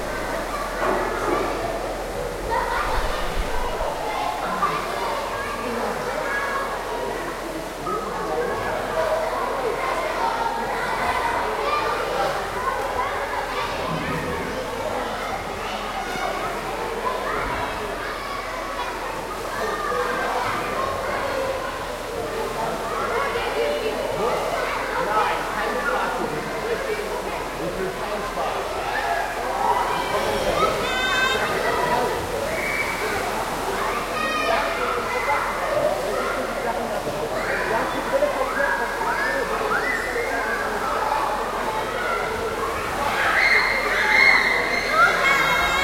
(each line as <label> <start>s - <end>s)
swimming 0.0s - 45.8s